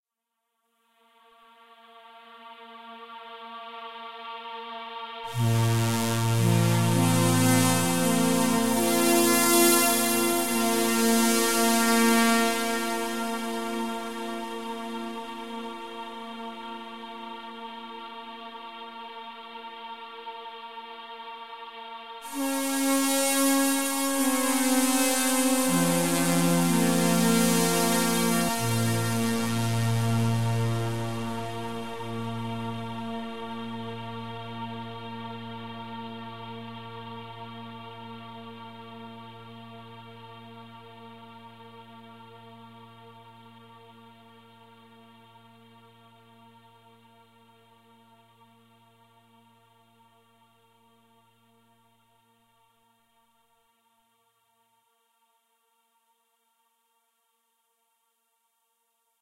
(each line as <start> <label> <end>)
1.4 synthesizer 50.2